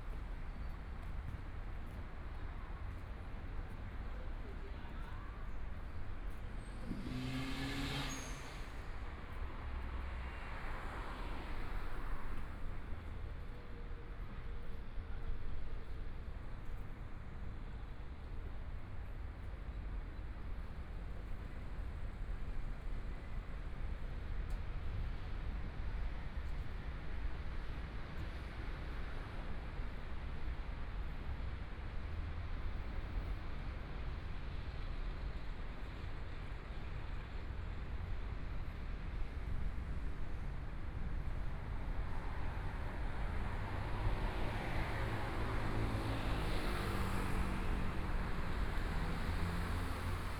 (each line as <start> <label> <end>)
0.0 Pedestrians on the road 50.3
4.6 Traffic Sound 15.2
39.0 Traffic Sound 50.3